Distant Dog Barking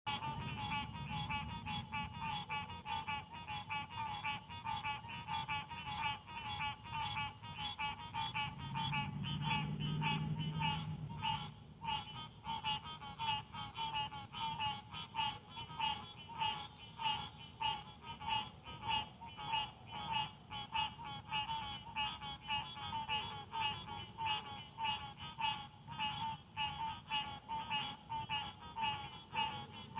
0:08.4 0:11.5

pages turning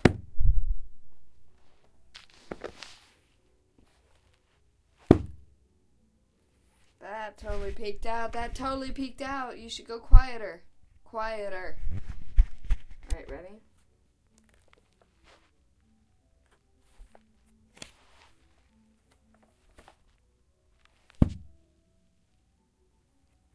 0:01.6 0:04.6, 0:06.8 0:08.6, 0:11.8 0:13.4, 0:14.3 0:15.5, 0:16.4 0:20.2

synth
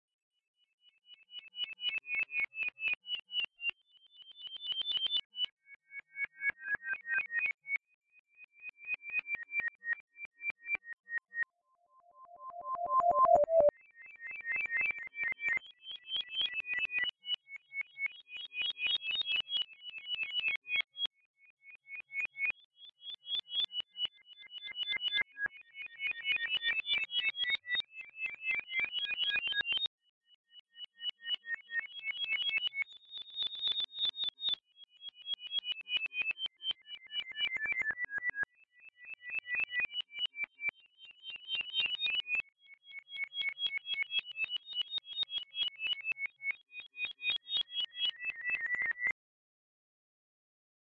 0:12.4 0:13.7

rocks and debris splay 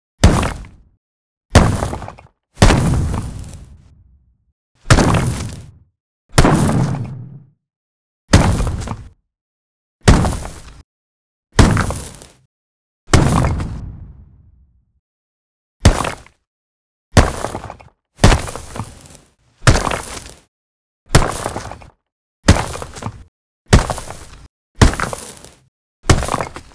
0:00.2 0:00.8, 0:01.6 0:03.8, 0:04.9 0:05.7, 0:11.6 0:12.3, 0:13.2 0:14.2, 0:15.9 0:16.3, 0:17.2 0:20.4, 0:21.2 0:21.8, 0:22.5 0:23.2, 0:23.8 0:26.7

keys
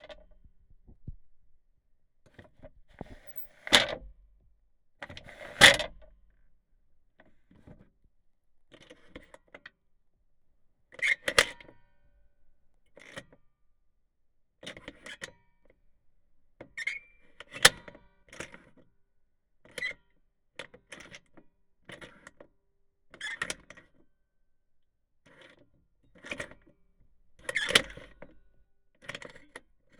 0:03.2 0:03.6

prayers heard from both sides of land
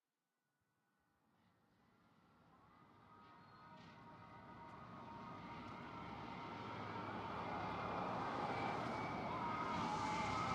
0:07.6 0:10.5

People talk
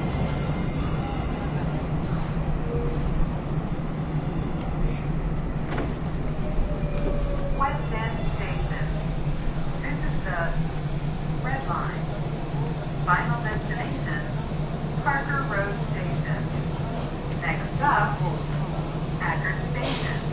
0:07.6 0:09.1, 0:09.8 0:10.6, 0:11.4 0:14.4, 0:15.0 0:20.3

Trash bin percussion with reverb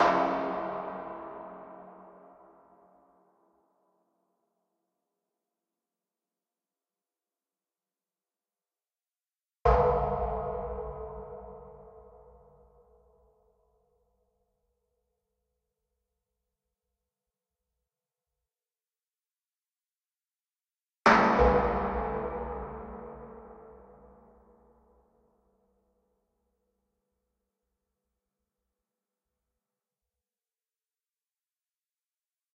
0:00.0 0:02.2, 0:21.1 0:24.4

